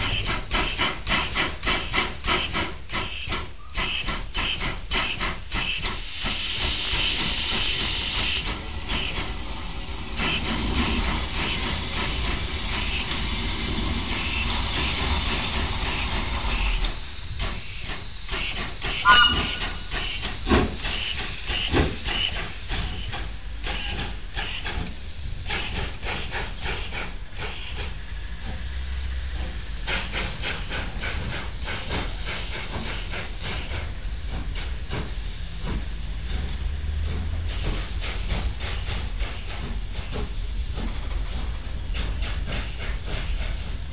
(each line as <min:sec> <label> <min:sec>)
0:00.0 steam locomotive Anna 8 with coke train 0:43.9